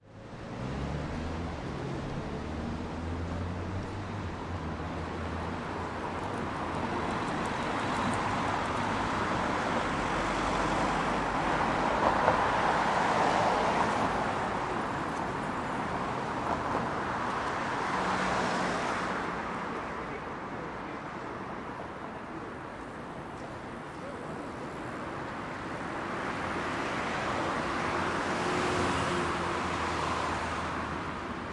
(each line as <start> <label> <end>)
0.0 traffic 31.5